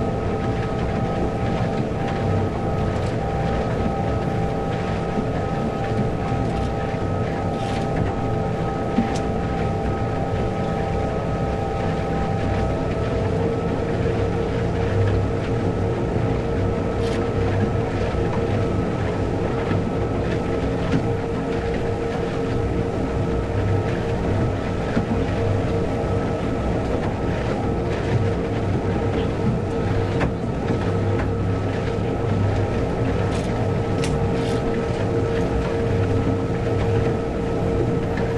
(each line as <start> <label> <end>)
0.0 Harbour Patrol Boat 38.3